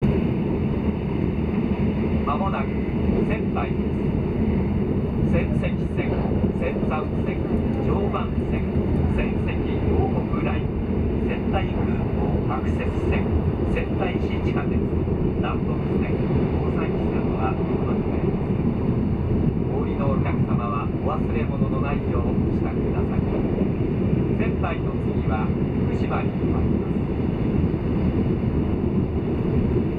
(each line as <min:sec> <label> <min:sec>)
0:00.0 steady, low-frequency hum of the high-speed train 0:29.9
0:01.9 Shinkansen accouncements 0:29.4